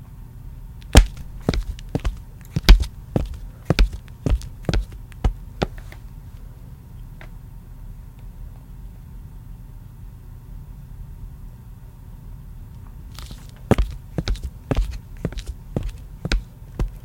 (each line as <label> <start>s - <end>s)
walking footsteps flat shoes tile floor 0.9s - 6.0s
walking footsteps flat shoes tile floor 13.2s - 17.0s